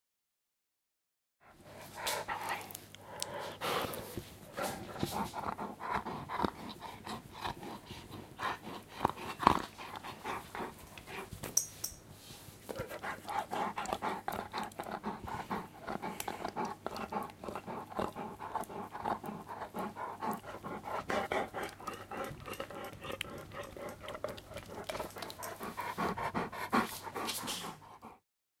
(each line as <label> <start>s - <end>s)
dog panting 1.4s - 11.4s
dog panting 12.6s - 28.2s